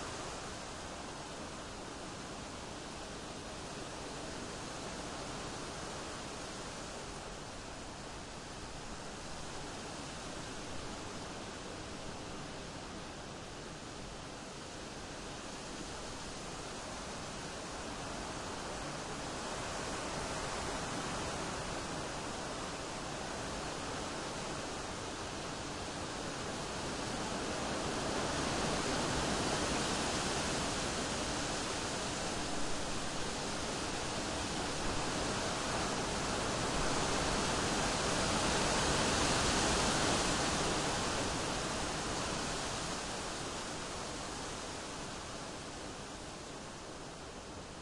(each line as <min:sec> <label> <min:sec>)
0:00.0 strong wind 0:47.8